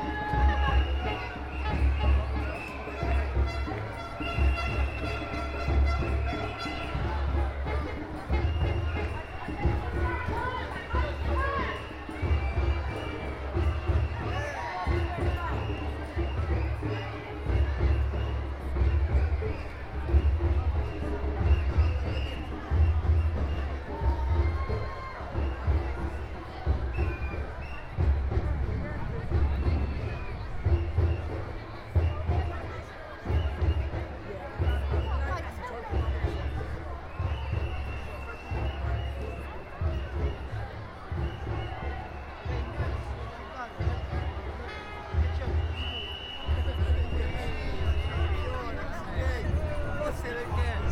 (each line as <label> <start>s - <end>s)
anti-lockdown freedom march 0.0s - 50.9s